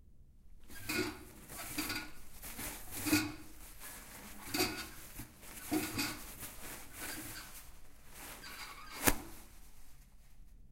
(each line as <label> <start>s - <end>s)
bathroom paper 0.7s - 10.6s